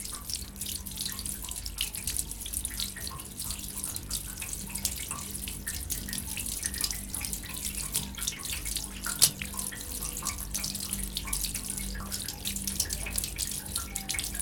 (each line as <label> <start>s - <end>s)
water trickles from a drain 0.0s - 14.4s